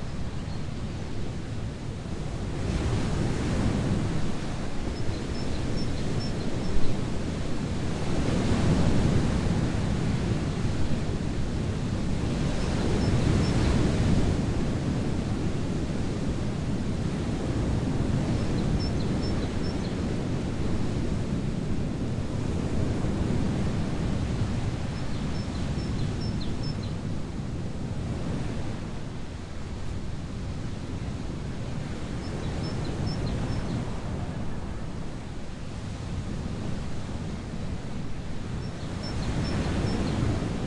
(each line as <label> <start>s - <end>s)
Big waves 0.0s - 40.6s
Bird 18.4s - 20.0s
Bird 32.2s - 33.8s